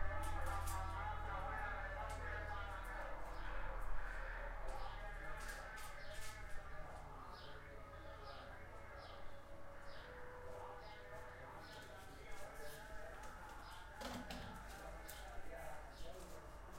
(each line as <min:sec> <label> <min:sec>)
0:00.0 Street-vendor 0:16.7